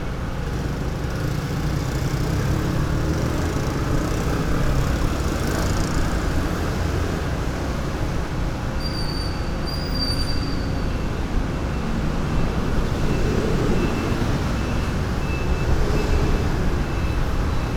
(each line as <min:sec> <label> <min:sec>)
0:00.0 Traffic Noise 0:17.7